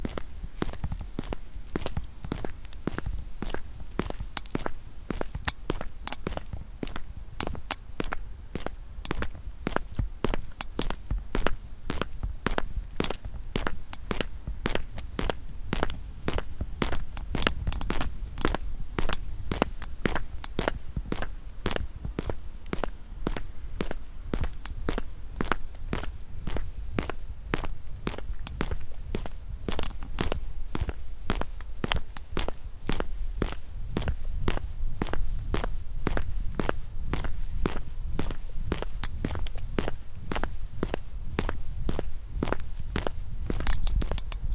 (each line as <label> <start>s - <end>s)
Footsteps from boots on a sidewalk 0.0s - 44.5s